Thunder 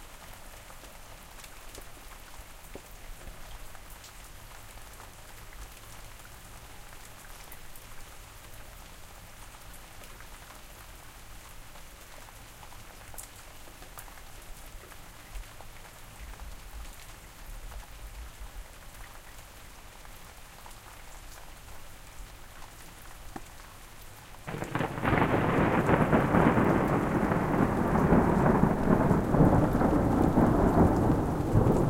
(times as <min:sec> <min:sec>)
0:24.5 0:31.8